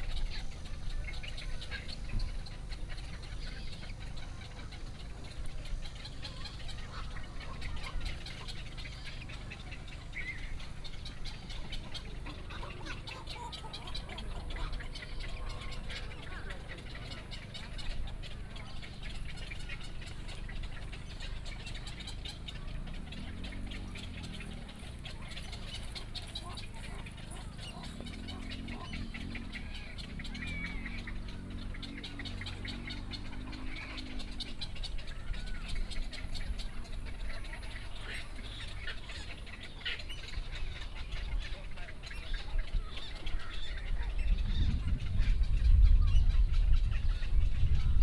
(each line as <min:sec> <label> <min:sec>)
0:00.0 Birdsong 0:48.0
0:00.0 White egrets 0:48.0
0:02.7 Duck calls 0:45.5